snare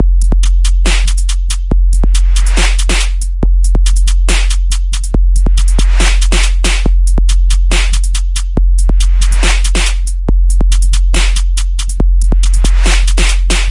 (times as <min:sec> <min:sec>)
0:00.9 0:01.4, 0:02.4 0:03.2, 0:04.3 0:04.6, 0:05.8 0:06.9, 0:07.7 0:08.2, 0:09.3 0:10.0, 0:11.1 0:11.5, 0:12.6 0:13.7